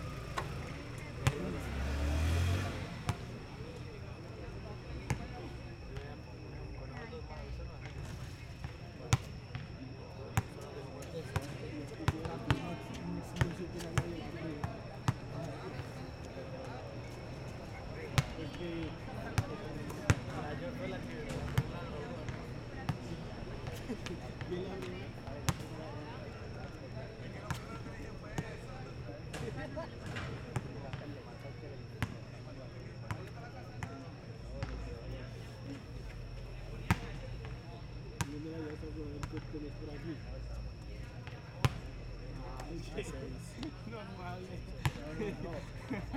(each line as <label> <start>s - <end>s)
Motocicleta pasando 0.0s - 3.4s